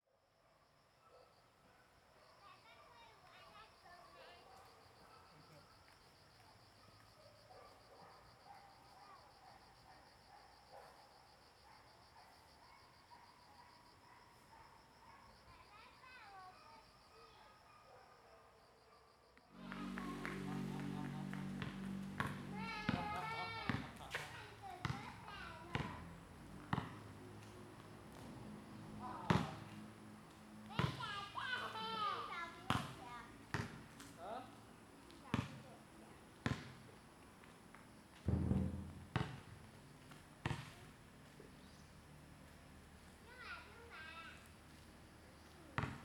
19.5s Dad with kids 34.7s

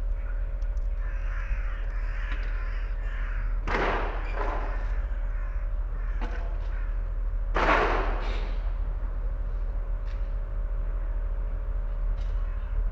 3.6s workers prepare a house for demolition 12.9s

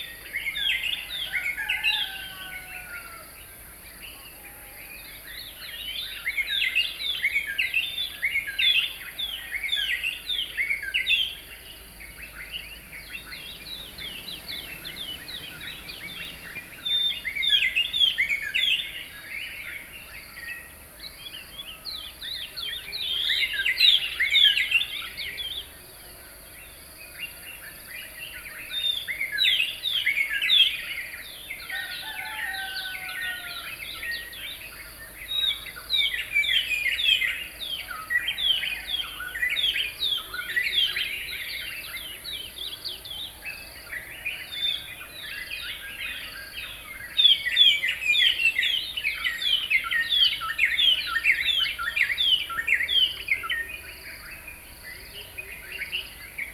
10.8s Dawn chorus 20.0s

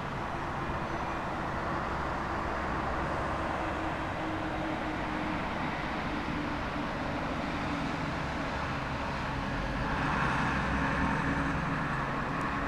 0.0s traffic in the distance 12.6s

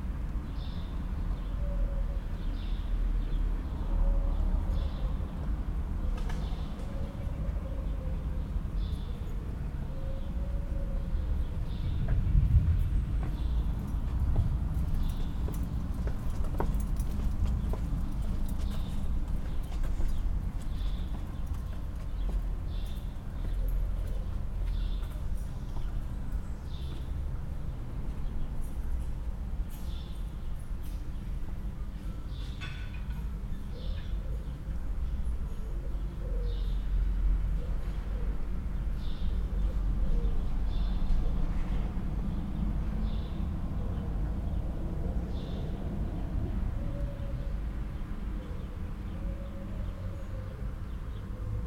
0.0s vehicular hums and traffic 51.6s
0.4s Intermittent calls of pigeons 12.2s
6.4s Subtle winds 51.6s
14.7s Intermittent calls of pigeons 28.8s
29.4s Intermittent calls of pigeons 51.6s

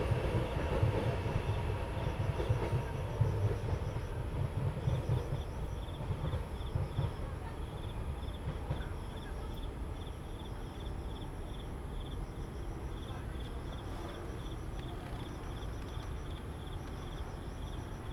0.0s MRT trains through 18.1s

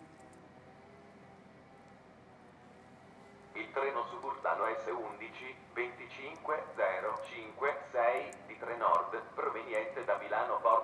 0.0s an airplane 10.8s
0.0s road works 10.8s
3.6s announcement on the loudspeaker 10.8s

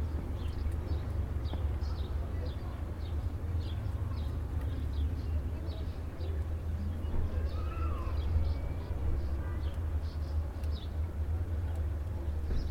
0.0s passage d'un groupe de motards 12.7s

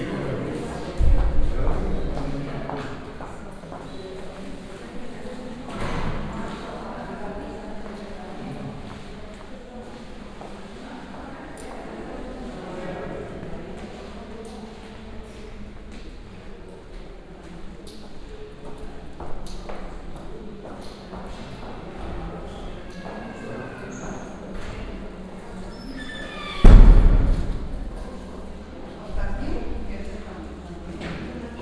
0.0s patients talking with each other 31.6s
26.4s slamming and locking the doors 28.2s

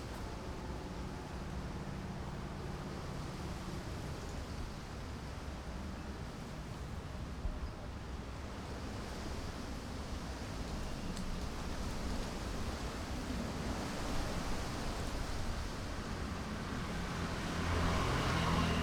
0.0s Wind 18.8s
16.3s Traffic Sound 18.8s

